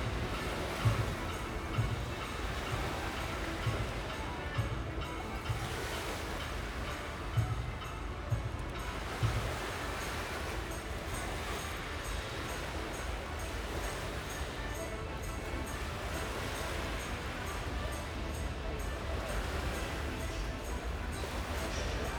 folk musician plays in the tunnel 0:00.0 - 0:22.1
waves slosh on a beach 0:00.0 - 0:22.1

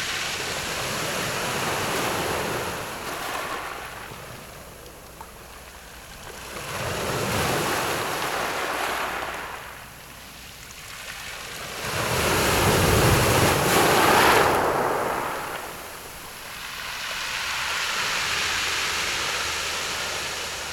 waves 0:00.0 - 0:20.7

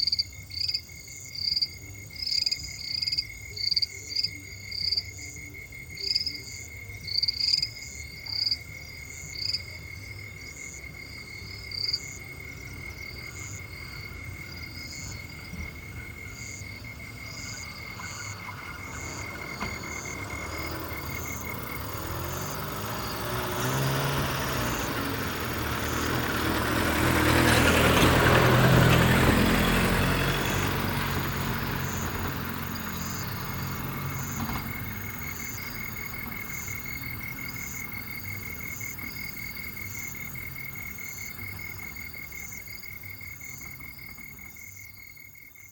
insects 0:00.0 - 0:45.7
toads 0:00.0 - 0:45.7
auto engines 0:01.5 - 0:45.7

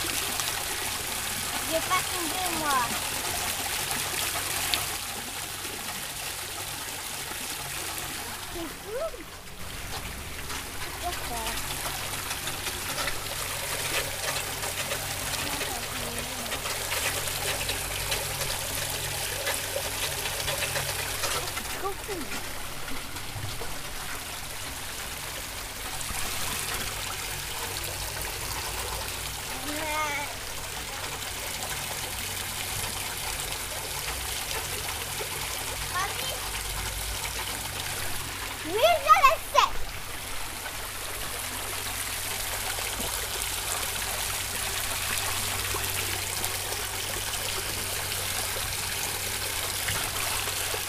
fountain 0:00.0 - 0:50.8
kids around 0:21.2 - 0:22.6
kids around 0:37.9 - 0:40.1

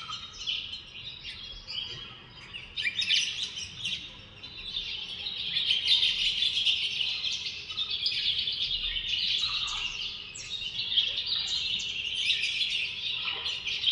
Dawn Birds 0:00.0 - 0:13.9

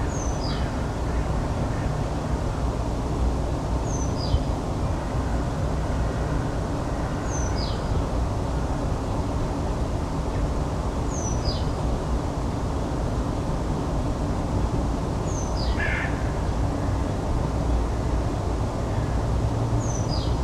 noise of the huge twenty lane highway 0:00.0 - 0:20.4
Crows 0:15.7 - 0:16.3

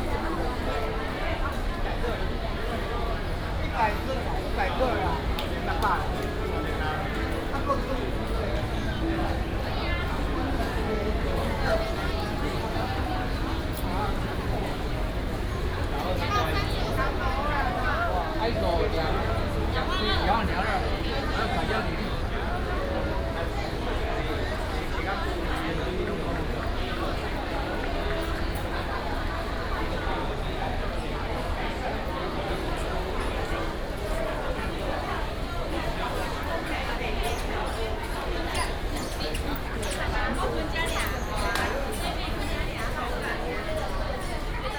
Traffic sound 0:04.2 - 0:24.7

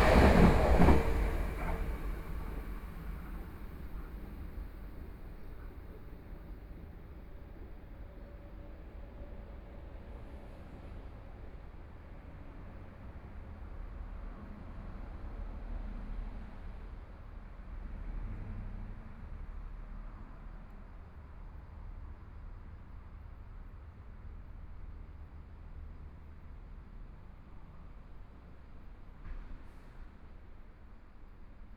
Train traveling through 0:00.0 - 0:05.6

